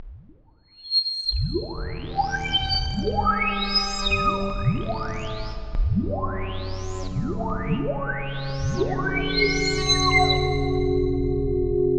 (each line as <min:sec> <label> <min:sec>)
0:07.2 Boiling and Whistling Sci-Fi Pads 0:10.9